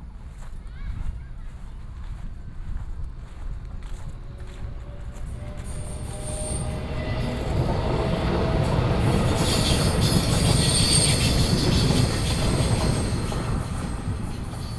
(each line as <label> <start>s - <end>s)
Traveling by train 0.0s - 14.7s
Child's voice 0.6s - 1.7s